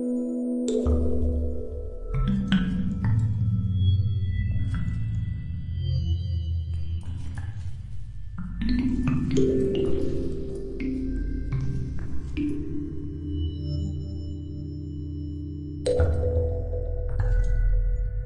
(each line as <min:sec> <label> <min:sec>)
0:08.4 percussion synthesizer 0:13.6
0:15.8 percussion synthesizer 0:18.2